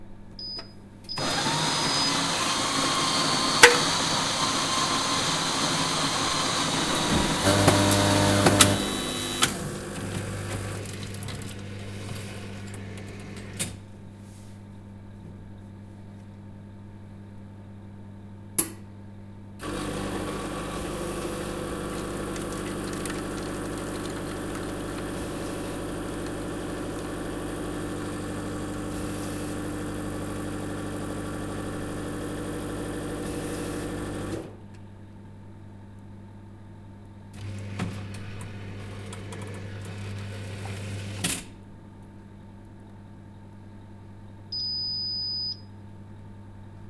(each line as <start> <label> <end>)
19.6 grinding of fresh coffee beans 30.0
44.6 beep at the end 45.7